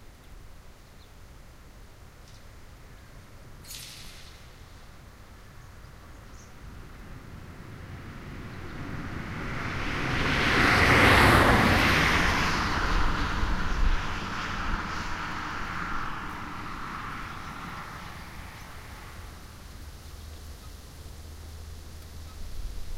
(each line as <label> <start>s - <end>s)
Car passes on a country road 0.0s - 22.9s